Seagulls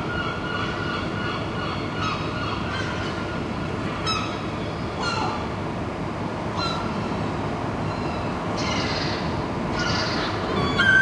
5.0s 5.4s, 6.6s 6.9s, 7.9s 11.0s

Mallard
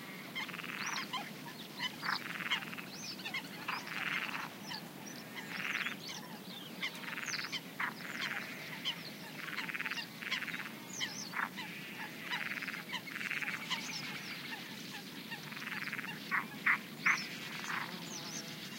0.4s 4.5s, 5.2s 6.0s, 7.0s 14.7s

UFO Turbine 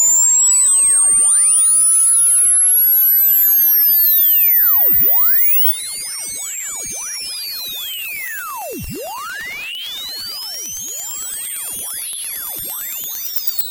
8.2s 10.0s

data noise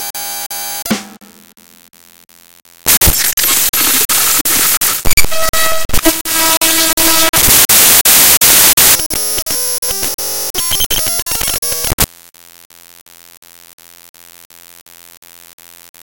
2.9s 12.1s

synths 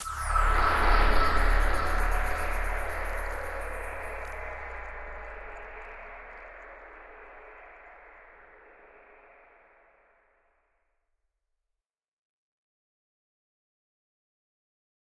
0.0s 9.9s

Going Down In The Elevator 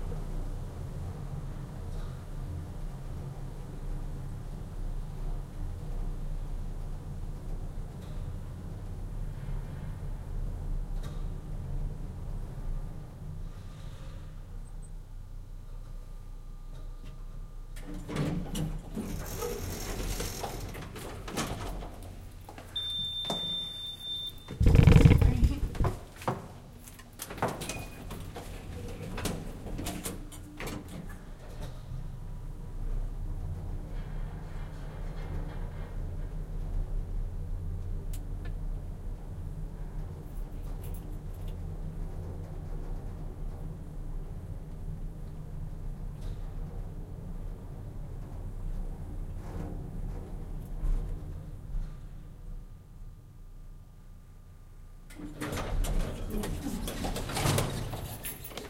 16.6s 26.4s, 27.0s 53.0s, 55.1s 58.6s

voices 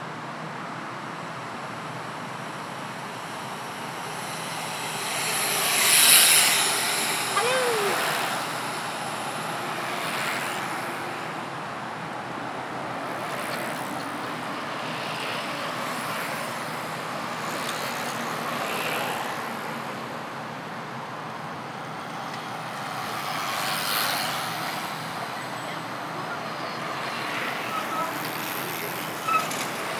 6.3s 11.4s, 25.1s 29.9s

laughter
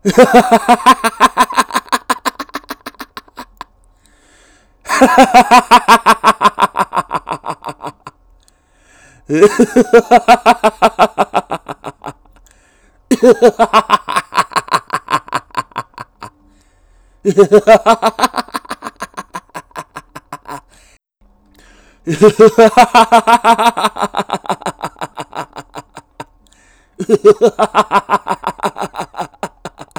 0.0s 3.7s, 4.9s 8.2s, 9.3s 12.3s, 13.1s 16.3s, 17.3s 20.8s, 22.1s 26.3s, 27.0s 29.9s

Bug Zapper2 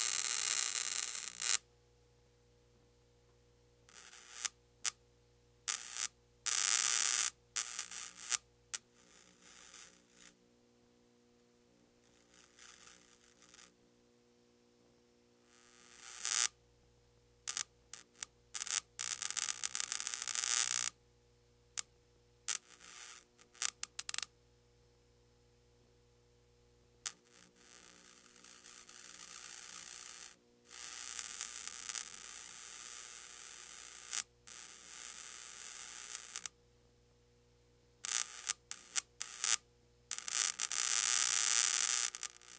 0.0s 1.6s

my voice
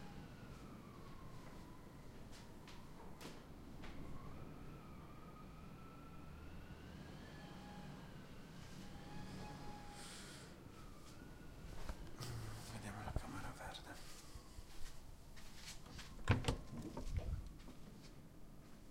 12.2s 14.0s

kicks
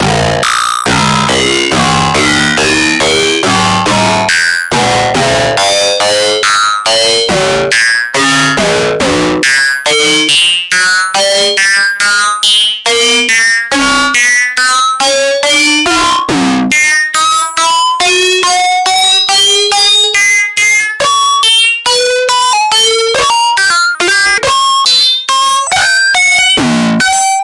0.0s 9.4s

